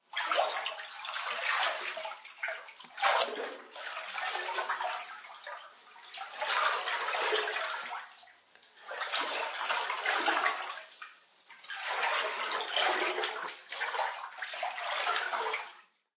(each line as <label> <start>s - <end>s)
water effect 0.2s - 8.1s